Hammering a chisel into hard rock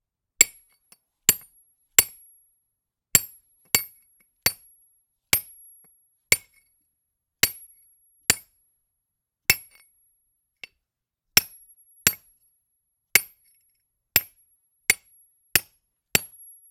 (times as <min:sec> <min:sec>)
0:00.4 0:02.3, 0:03.1 0:04.7, 0:05.3 0:06.7, 0:07.4 0:08.6, 0:09.5 0:09.9, 0:11.4 0:12.4, 0:13.1 0:16.6